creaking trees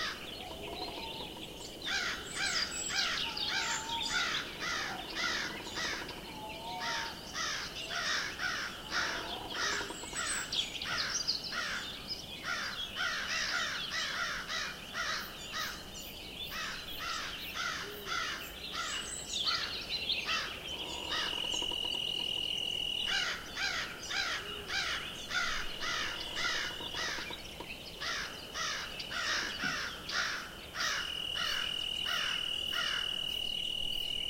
0.0 6.4, 20.3 33.0

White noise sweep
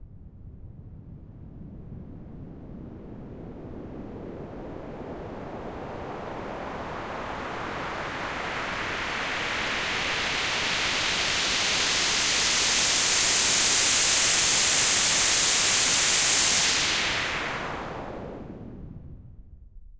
6.3 19.2

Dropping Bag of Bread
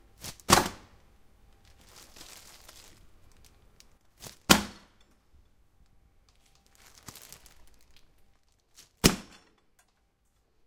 0.2 1.0, 1.6 5.0, 6.3 10.0

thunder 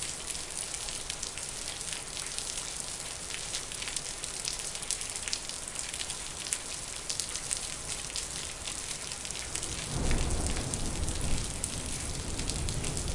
9.7 13.1

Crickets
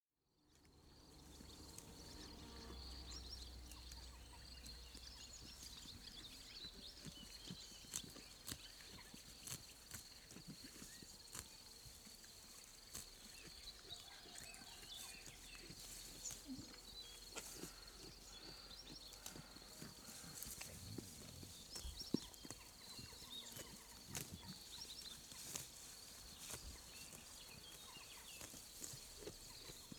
15.8 29.9

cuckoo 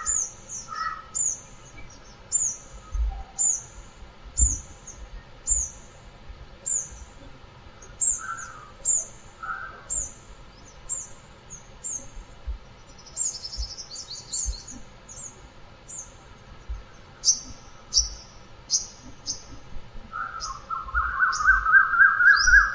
2.8 3.6, 8.1 9.9, 17.2 22.7

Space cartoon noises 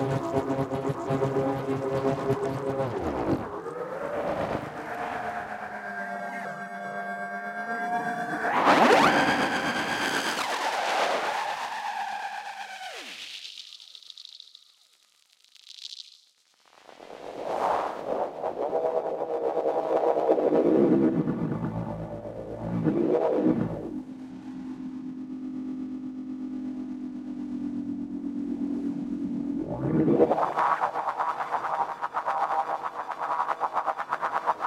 0.0 13.2, 18.5 25.2, 29.2 34.6

